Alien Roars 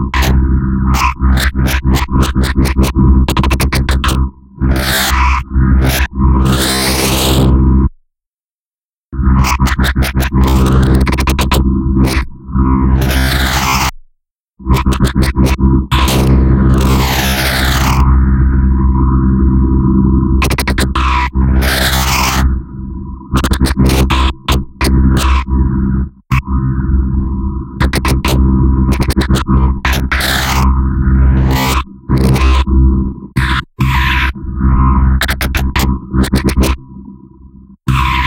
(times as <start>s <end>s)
37.9s 38.2s